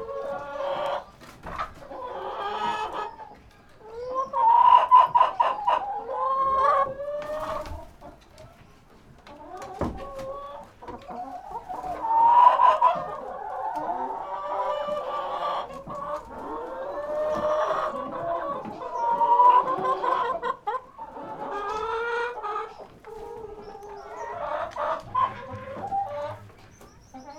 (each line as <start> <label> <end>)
0.0 hen house sounds 27.3